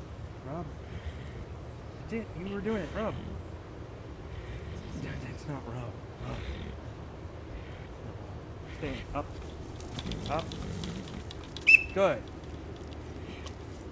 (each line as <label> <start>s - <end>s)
tiger 2.4s - 13.7s
commands 8.7s - 12.4s
high-pitched training whistle 11.7s - 12.0s